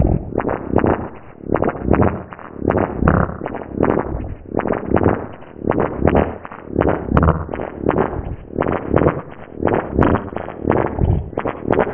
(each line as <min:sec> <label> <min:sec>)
0:00.0 weird beat 0:11.9